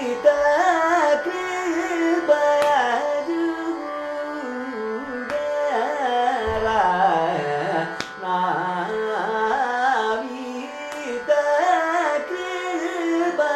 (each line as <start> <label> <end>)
0.0 sung by Prasanna 13.5